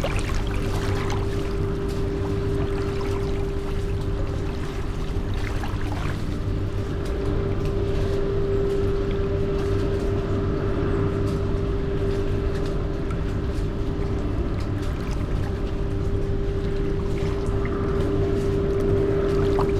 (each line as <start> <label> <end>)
0.0 free flowing waves over concrete surface 7.3